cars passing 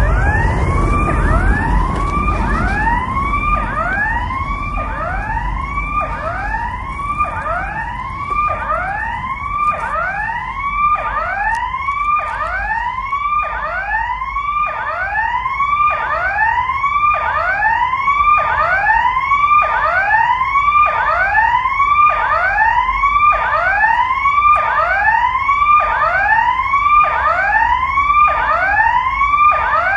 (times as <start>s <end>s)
0.0s 13.8s